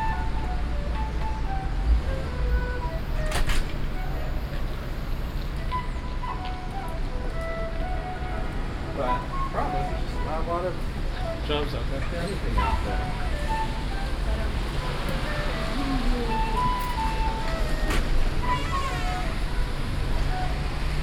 Flutist 0.0 - 21.0
Road traffic 0.0 - 21.0
Door 3.2 - 3.8

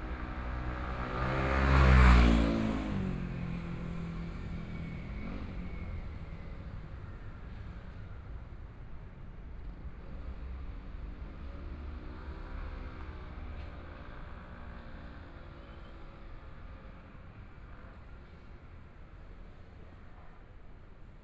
Traffic Sound 0.0 - 8.5
Motorcycle sound 0.0 - 4.1

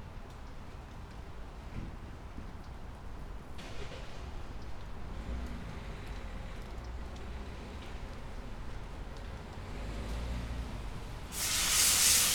man washing a car with power washer 11.3 - 12.3

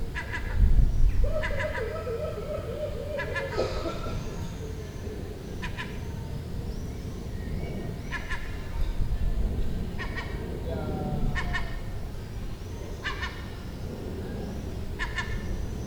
Seagull Chatter 0.1 - 5.0

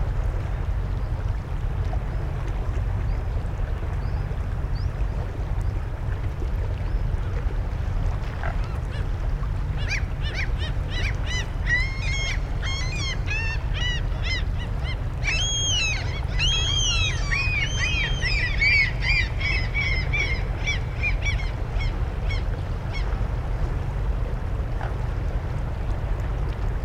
boats 0.0 - 26.8
gulls 9.8 - 23.0

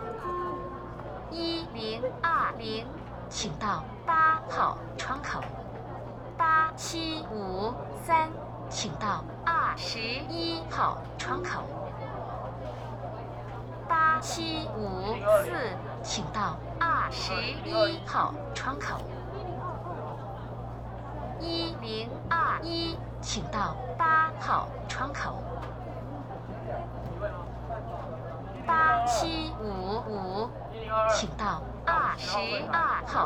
Counter broadcasting 21.4 - 25.4

